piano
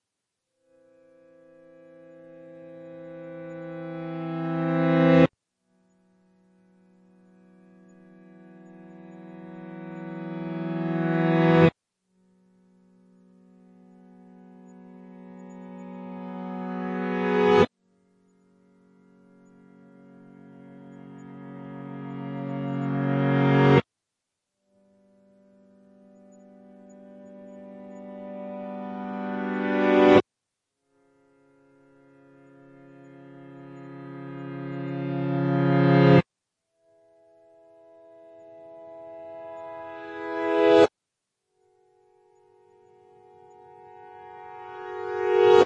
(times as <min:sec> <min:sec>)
0:00.8 0:05.3, 0:06.4 0:11.7, 0:13.3 0:17.7, 0:18.5 0:23.8, 0:25.2 0:30.2, 0:31.7 0:36.2, 0:37.5 0:40.9, 0:42.1 0:45.6